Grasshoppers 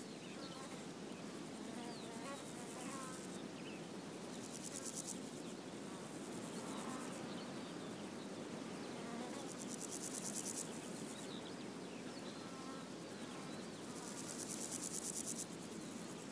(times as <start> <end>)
4.2 7.5, 8.8 11.4, 12.3 16.3